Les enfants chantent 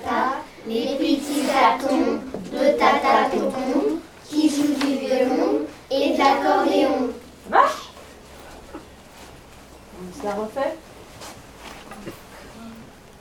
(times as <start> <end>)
0.0 7.3